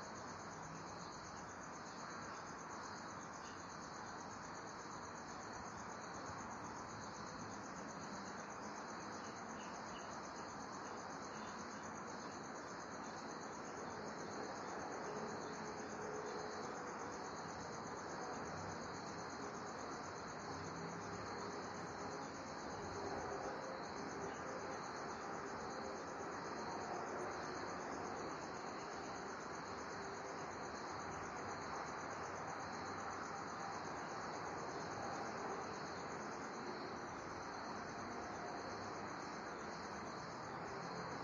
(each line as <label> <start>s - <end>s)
crickets 0.0s - 41.2s